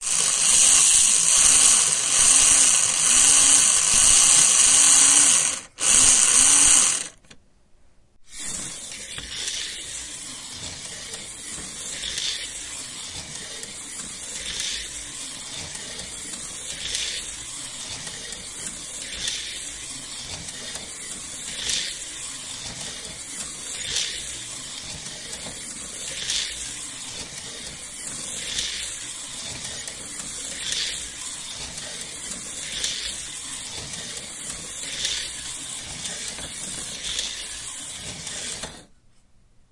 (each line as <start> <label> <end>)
0.0 slot car 7.2
8.3 slot car 38.9